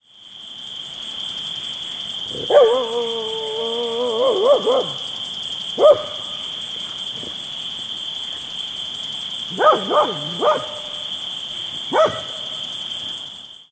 crickets 0:00.0 - 0:13.7
Dog barking close 0:02.3 - 0:03.0
Dog barking close 0:04.2 - 0:05.0
Dog barking close 0:05.8 - 0:06.4
Dog barking close 0:09.5 - 0:11.1
Dog barking close 0:11.9 - 0:12.5

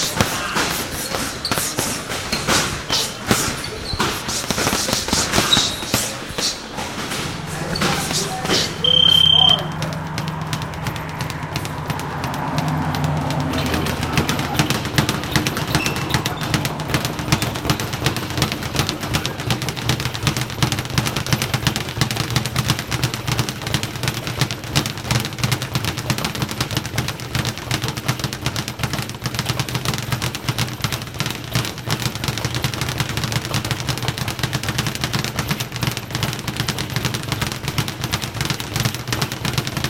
Speedbag 0:00.0 - 0:39.8
heavy bags 0:00.0 - 0:39.8
punching mitts 0:00.0 - 0:39.8
sparring 0:00.0 - 0:39.8
traffic passing open garage-bay doors 0:00.0 - 0:39.8
round timer bells 0:07.5 - 0:10.5

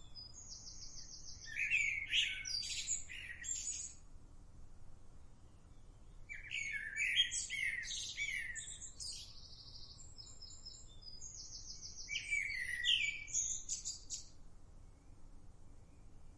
blackbird 0:00.0 - 0:04.0
blackbird 0:05.3 - 0:16.3

